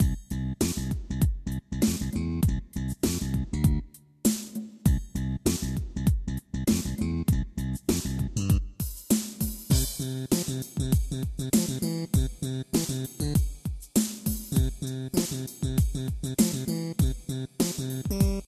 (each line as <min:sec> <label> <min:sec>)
0:00.0 slap bass 0:03.9
0:04.9 slap bass 0:08.7
0:14.6 slap bass 0:18.4